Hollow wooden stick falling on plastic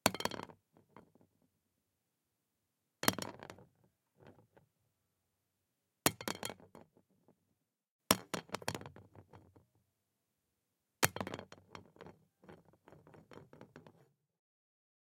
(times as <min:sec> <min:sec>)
0:11.1 0:14.1